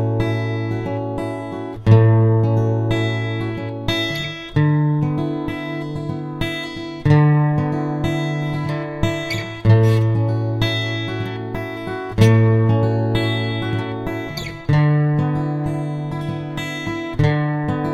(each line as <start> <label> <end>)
0.0 guitar 17.9